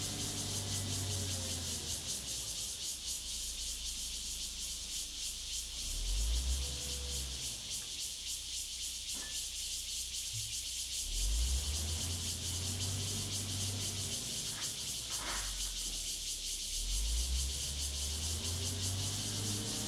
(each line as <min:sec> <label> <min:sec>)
0:00.0 Cicadas sound 0:19.8